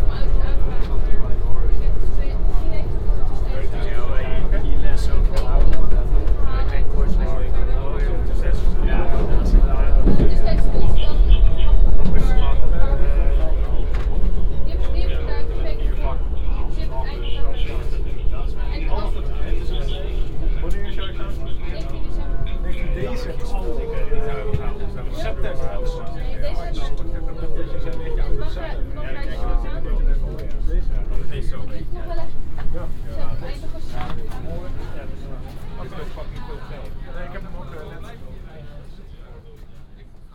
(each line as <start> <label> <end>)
0.0 metro platform 40.3
0.0 metro ride 40.3